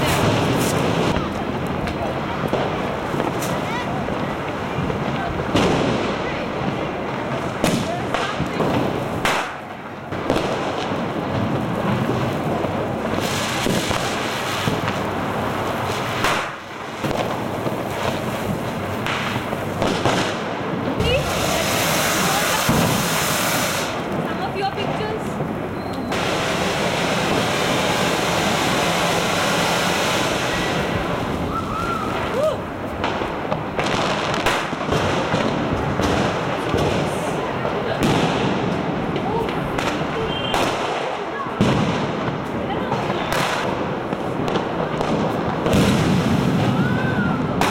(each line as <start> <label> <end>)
0.0 voices 10.2
0.0 fireworks 47.7
10.8 road traffic 46.7
20.4 voices 33.6
36.2 voices 45.6